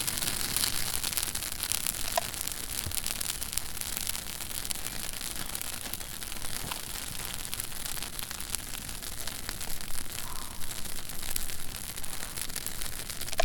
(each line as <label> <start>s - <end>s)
sizzling campfire 0.0s - 13.4s